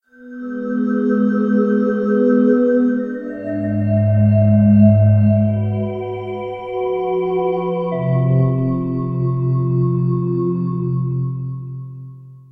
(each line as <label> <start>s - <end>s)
synthetic sound that is somewhat tuneful 0.1s - 12.4s